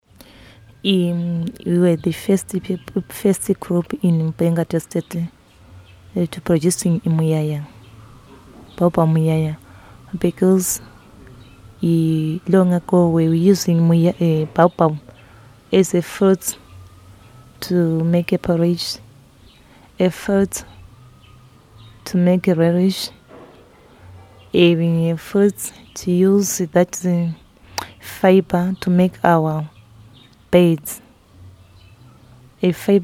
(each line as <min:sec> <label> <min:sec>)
0:00.8 Margaret describes the many different traditional uses of Baobab 0:05.4
0:06.1 Margaret describes the many different traditional uses of Baobab 0:07.8
0:08.7 Margaret describes the many different traditional uses of Baobab 0:16.7
0:17.6 Margaret describes the many different traditional uses of Baobab 0:19.0
0:20.0 Margaret describes the many different traditional uses of Baobab 0:20.8
0:22.0 Margaret describes the many different traditional uses of Baobab 0:23.2
0:24.4 Margaret describes the many different traditional uses of Baobab 0:29.8
0:30.5 Margaret describes the many different traditional uses of Baobab 0:31.1
0:32.6 Margaret describes the many different traditional uses of Baobab 0:33.0